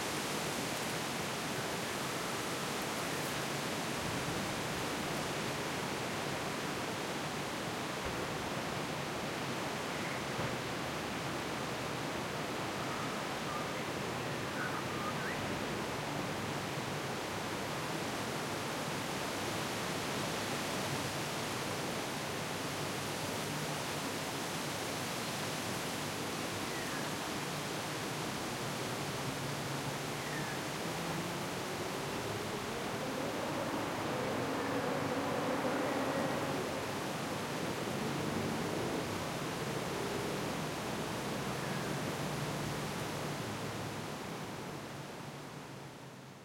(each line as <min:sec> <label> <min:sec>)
0:00.0 medium heavy wind gusts 0:46.4